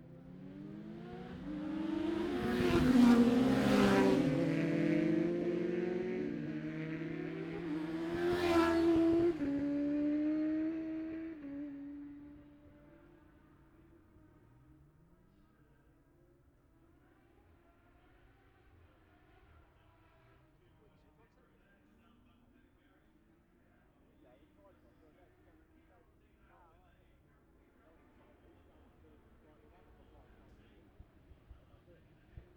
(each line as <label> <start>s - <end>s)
classic superbikes qualifying 0.0s - 15.1s